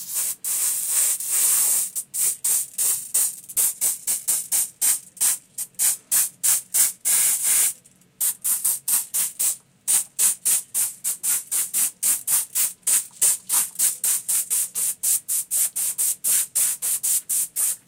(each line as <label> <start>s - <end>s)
Aerosol spray can 0.0s - 17.8s